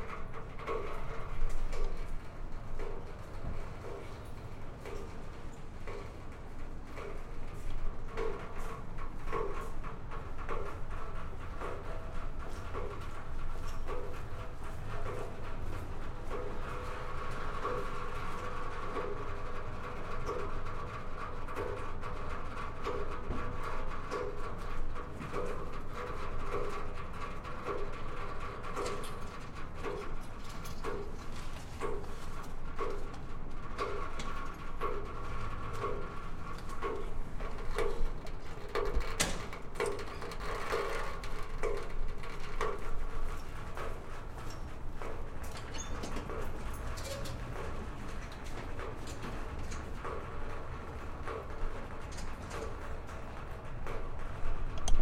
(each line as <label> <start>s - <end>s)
pipe leak 31.8s - 51.7s